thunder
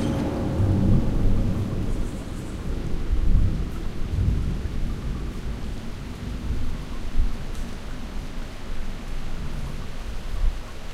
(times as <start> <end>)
0.0 7.4